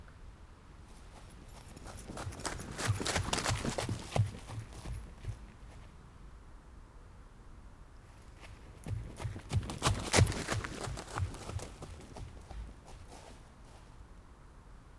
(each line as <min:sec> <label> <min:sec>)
0:00.9 walking run 0:06.0
0:08.1 walking run 0:14.0